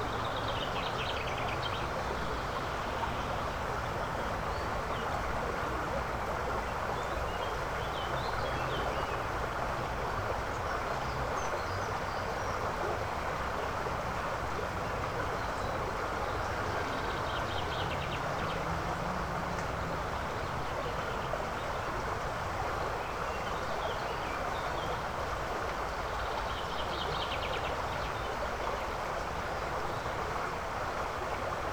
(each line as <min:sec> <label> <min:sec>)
0:00.0 creek 0:31.7